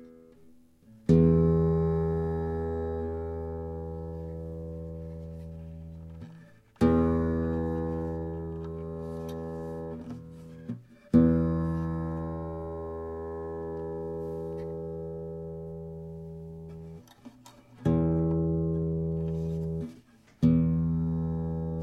0.0s nylon guitar 21.8s

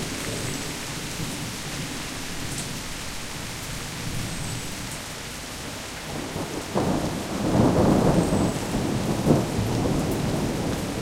5.7s thunderstorm 11.0s

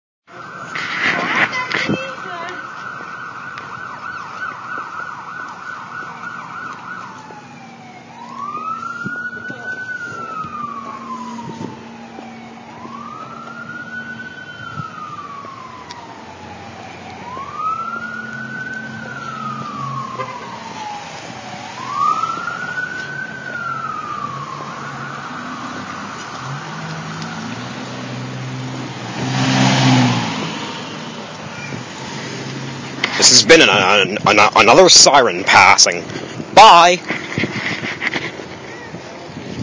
0.3s Ambulance Passing 39.6s

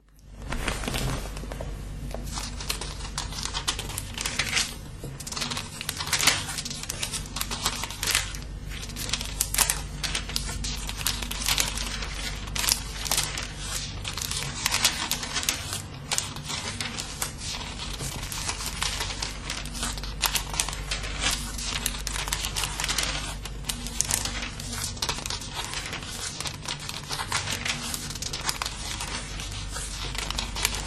0.1s turning pages 30.8s

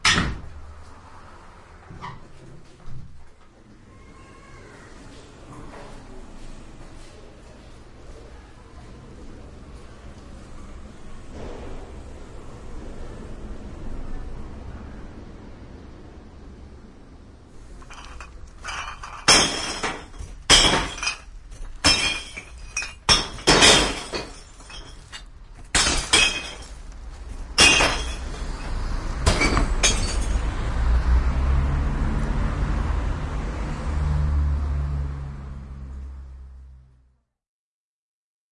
17.8s glass recycling bank 26.9s
27.5s glass recycling bank 30.5s

